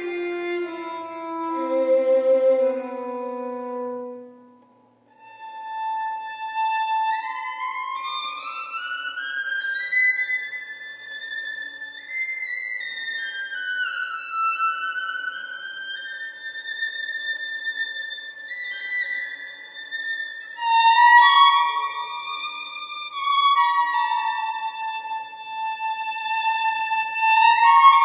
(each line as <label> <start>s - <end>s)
Violin 0.0s - 28.0s